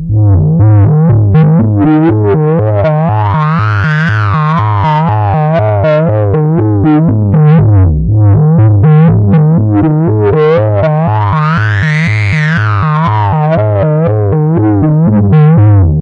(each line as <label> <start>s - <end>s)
analog Bass stretch sounds 0.0s - 16.0s